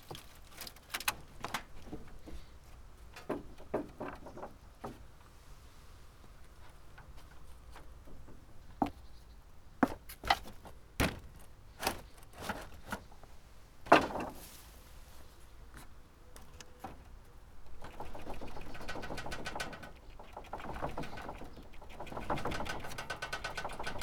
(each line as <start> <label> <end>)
13.9 wood pile 14.8